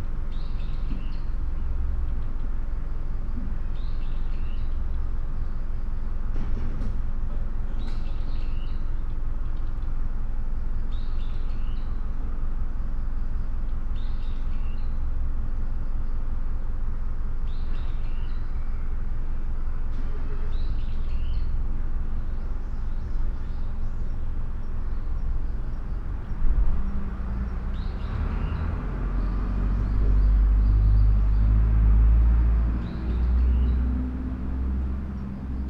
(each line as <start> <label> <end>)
7.7 bird 9.9
17.4 bird 19.0
19.9 bird 21.6